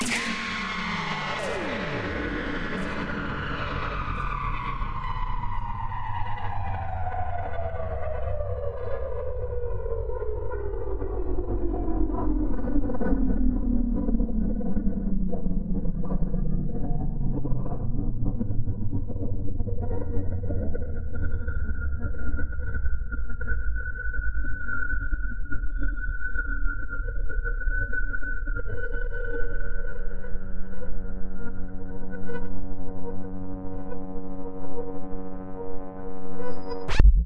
Electrical sting that descends 0.0 - 3.8
Electrical sting that descends 36.4 - 37.2

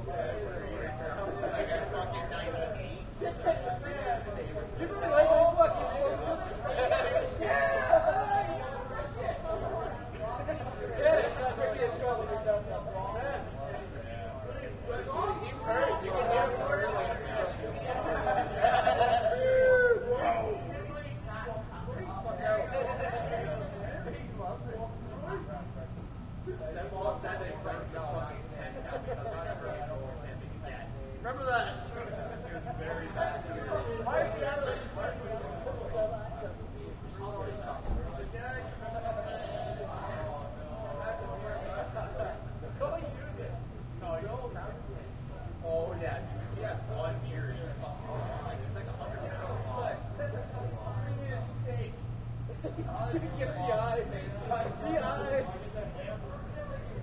yelling laughing 17.9 - 20.6

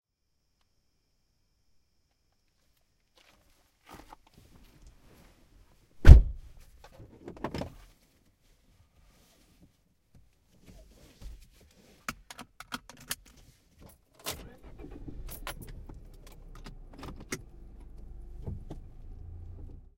cricket 0.1 - 4.3
car door shut 6.0 - 6.5
car start 14.2 - 19.9

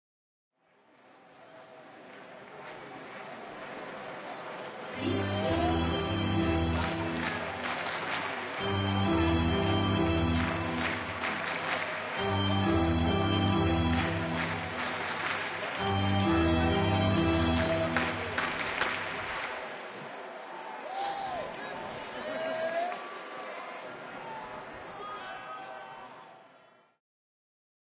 Crowd chanting 4.0 - 22.4
organ 5.0 - 8.0
organ 8.6 - 19.2

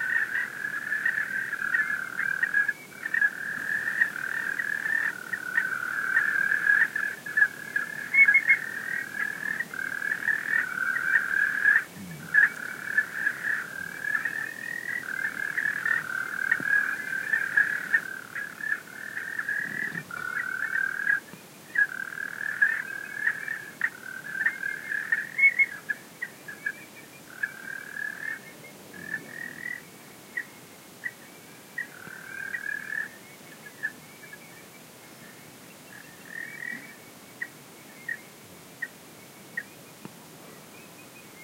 frog chorus 0.0 - 39.8

